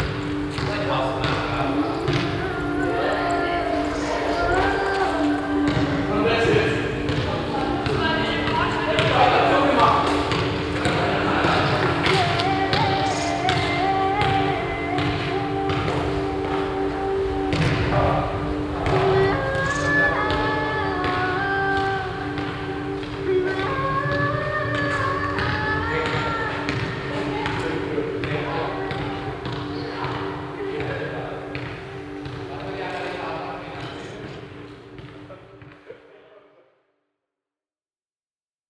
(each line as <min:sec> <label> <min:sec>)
0:00.0 vocal sound of a singer from a concert 0:34.7
0:00.0 young people playing basketball 0:36.4